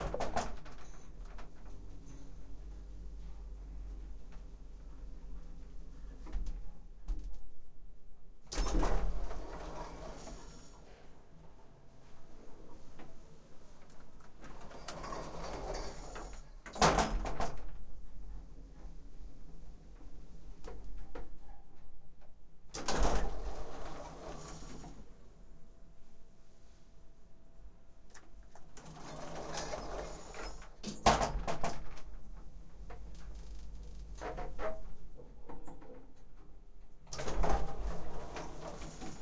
Small hotel elevator doors 0.0 - 7.6
Small hotel elevator doors 8.5 - 25.3
Small hotel elevator doors 27.6 - 39.2

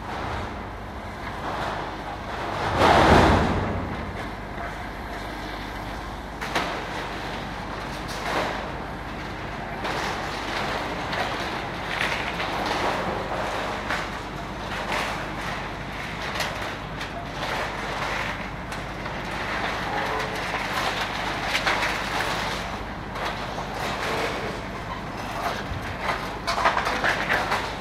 Demolition waste is beeing sorted and filled in a container 0.0 - 27.8
crane 0.0 - 27.8
excavator 0.0 - 27.8

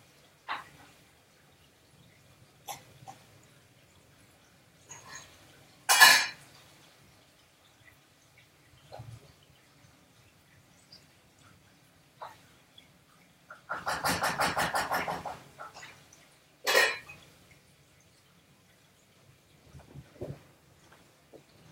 grandma cooking 4.9 - 6.6
grandma cooking 13.4 - 17.2

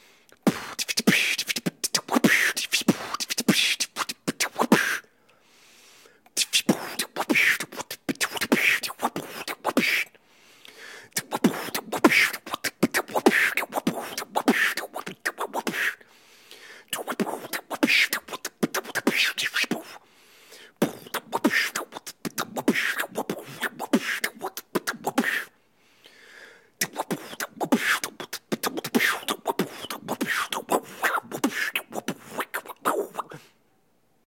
Beatboxing beats 0.3 - 5.1
Beatboxing beats 6.3 - 25.5
Beatboxing beats 26.8 - 33.6

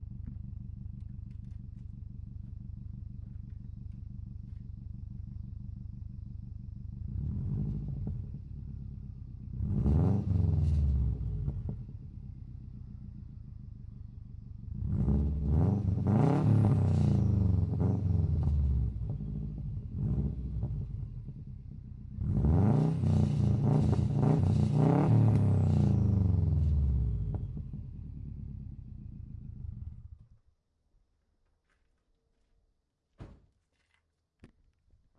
engine at idle 0.0 - 30.4
engine revs 6.9 - 12.2
engine revs 14.6 - 30.2

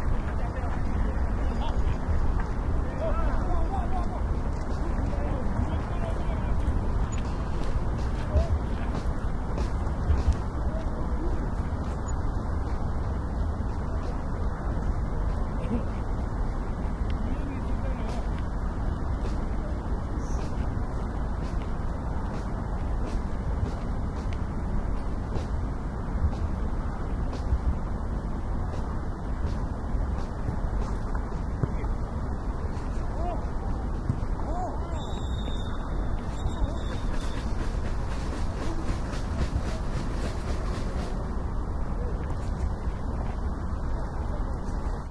voice 0.0 - 7.4
Football match amateur 0.0 - 45.1
Traffic in the background 0.0 - 45.1
voice 8.0 - 12.0
voice 13.7 - 16.1
voice 17.1 - 18.4
voice 19.2 - 21.7
voice 31.6 - 35.3
whistle 34.9 - 37.5
voice 36.2 - 45.1

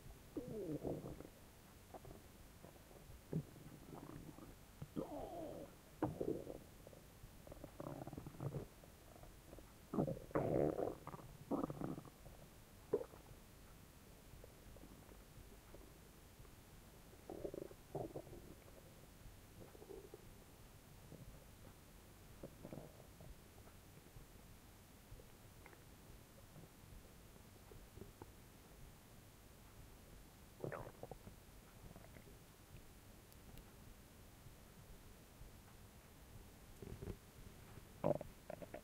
Stomach gurgling 0.3 - 13.3
Stomach gurgling 17.1 - 18.9
Stomach gurgling 19.6 - 20.3
Stomach gurgling 22.4 - 23.4
Stomach gurgling 30.6 - 32.4
Stomach gurgling 36.8 - 37.2
Stomach gurgling 38.0 - 38.8

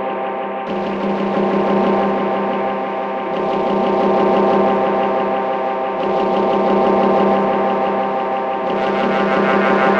drone 0.0 - 9.9

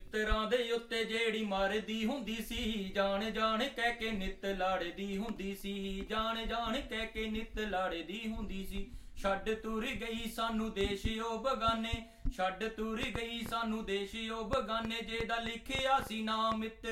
Song in Punjabi 0.0 - 16.9

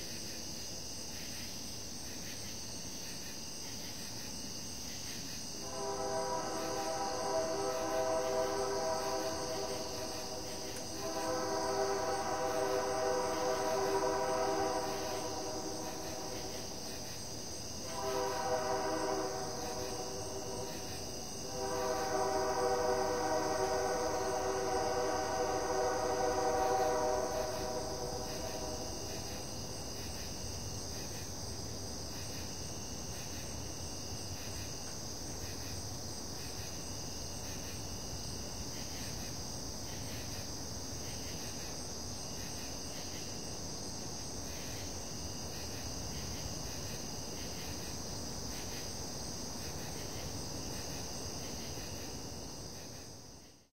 train 0.0 - 53.7
insects 0.0 - 53.7

